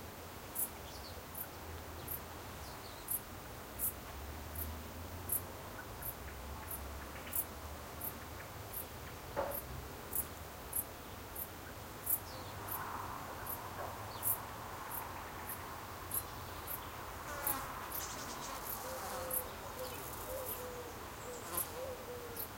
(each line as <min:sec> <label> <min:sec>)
0:00.0 steady light wind 0:22.5
0:01.2 traffic 0:22.5
0:01.3 crickets 0:22.5
0:14.2 flies 0:20.7
0:15.0 birds 0:22.5
0:18.8 owl 0:22.5
0:21.3 flies 0:22.5